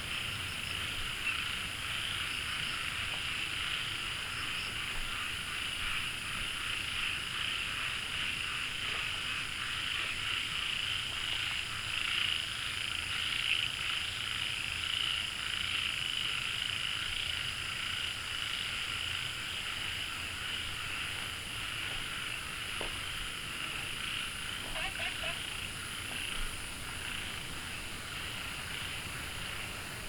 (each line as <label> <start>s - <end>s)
Walking along the stream 0.0s - 12.7s
Frogs chirping 0.0s - 15.1s
Frogs chirping 15.7s - 30.0s
Walking along the stream 18.1s - 30.0s
water streams 19.8s - 30.0s